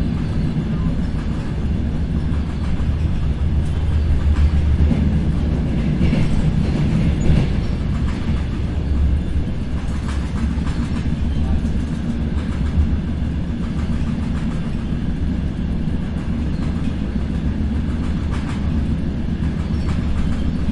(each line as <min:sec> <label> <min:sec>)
0:00.0 train noise 0:20.7